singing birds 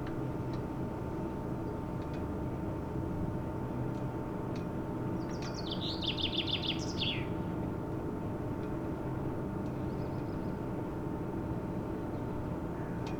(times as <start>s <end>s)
5.3s 7.3s